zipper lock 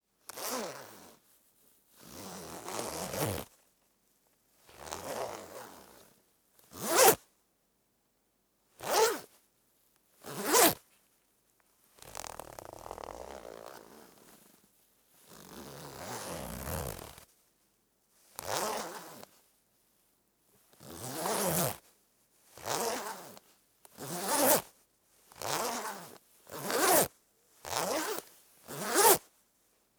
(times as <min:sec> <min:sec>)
0:24.0 0:24.6, 0:25.4 0:27.1, 0:27.7 0:29.2